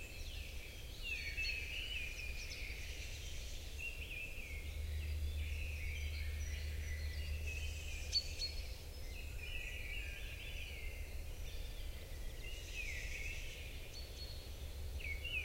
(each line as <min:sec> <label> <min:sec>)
0:00.0 song of a Mistle Thrush 0:15.4